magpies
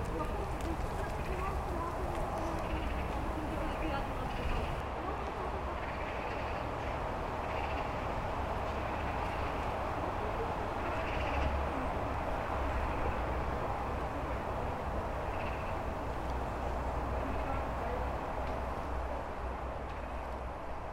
0.0s 4.8s, 5.4s 8.0s, 8.8s 12.0s, 14.2s 18.0s

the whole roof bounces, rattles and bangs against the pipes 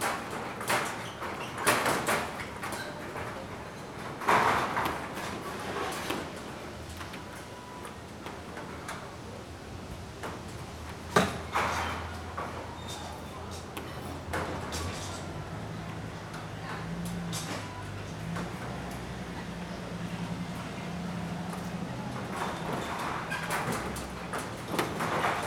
0.0s 6.4s, 22.2s 25.4s

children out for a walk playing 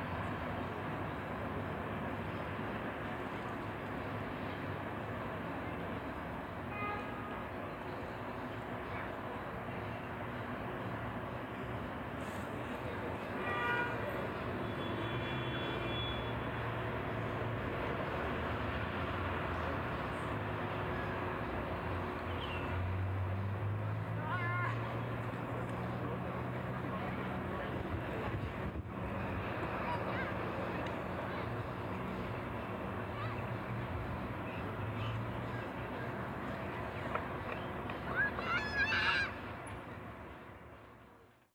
19.4s 41.5s

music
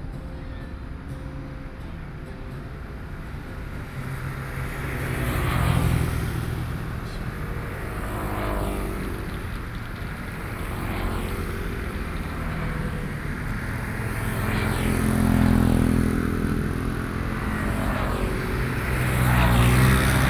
0.0s 5.2s

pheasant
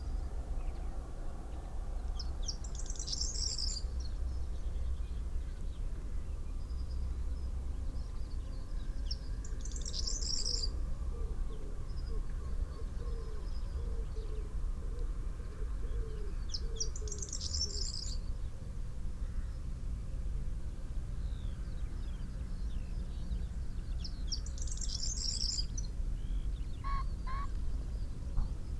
26.3s 28.7s

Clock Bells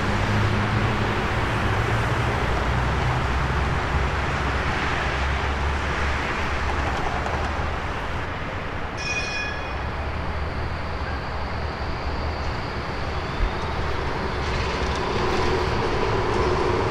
9.0s 9.9s

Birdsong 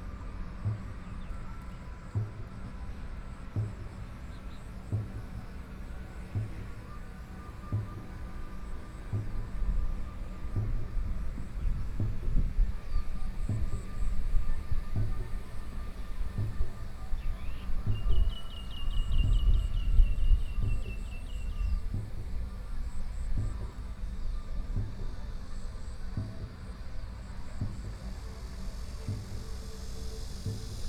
3.8s 26.0s

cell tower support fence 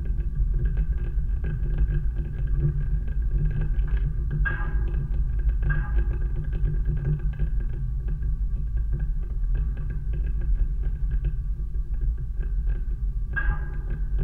0.0s 8.0s, 12.2s 14.2s

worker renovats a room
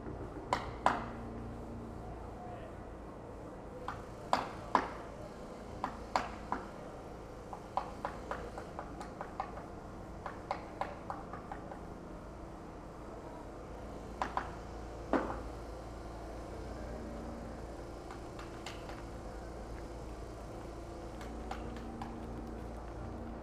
13.4s 23.4s

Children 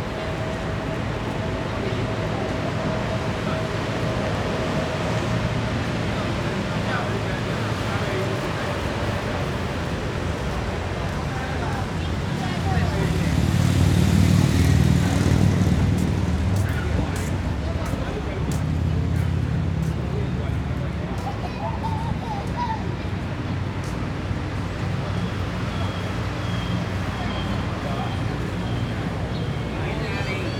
20.8s 23.8s

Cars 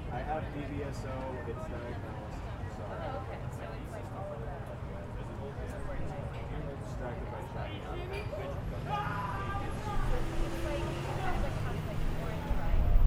6.0s 13.0s

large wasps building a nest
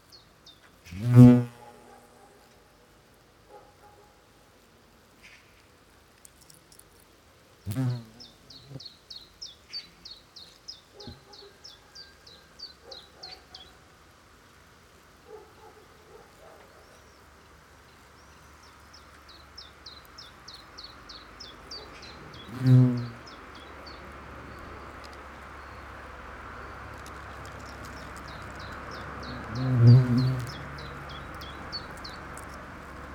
0.9s 1.9s, 6.2s 8.9s, 22.1s 33.1s

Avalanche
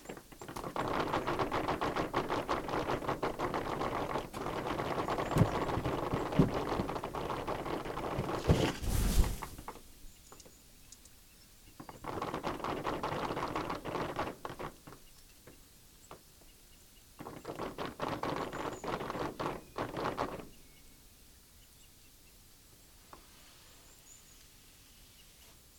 0.0s 9.9s

